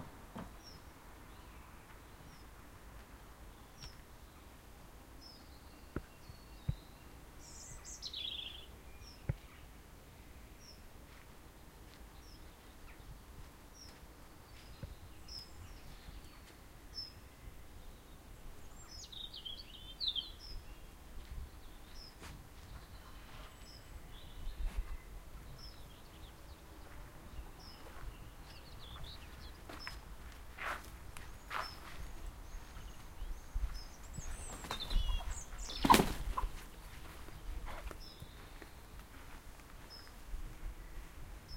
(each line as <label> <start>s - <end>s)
birdsong 0.0s - 41.5s
walking 26.7s - 34.6s
chickens 34.3s - 37.8s
walking 35.2s - 41.2s